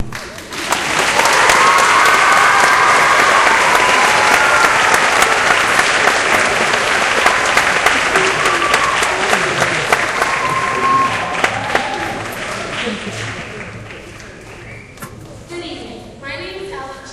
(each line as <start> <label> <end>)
0.0 applause 14.9